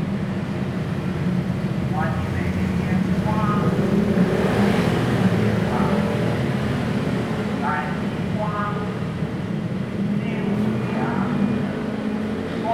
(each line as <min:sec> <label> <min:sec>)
0:00.0 Traffic Sound 0:12.7
0:01.8 Vendors Publicity 0:06.4